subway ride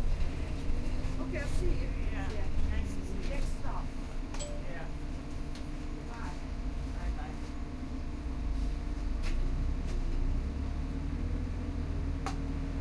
0.0s 10.2s

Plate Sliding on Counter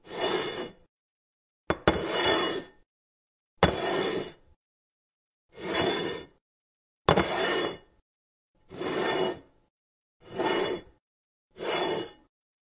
0.0s 0.8s, 1.8s 2.8s, 3.6s 4.4s, 5.6s 6.4s, 7.1s 7.9s, 8.7s 9.5s, 10.2s 11.0s, 11.6s 12.3s

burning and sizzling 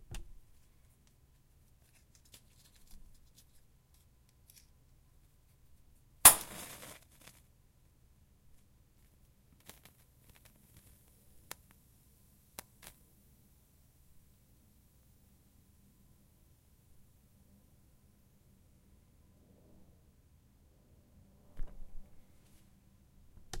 6.2s 7.4s

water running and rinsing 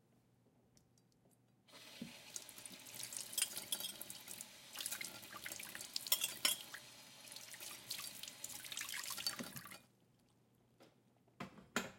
1.7s 9.9s

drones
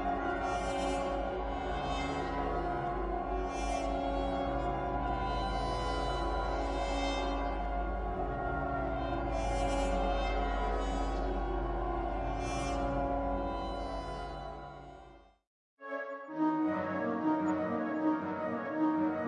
0.0s 15.2s

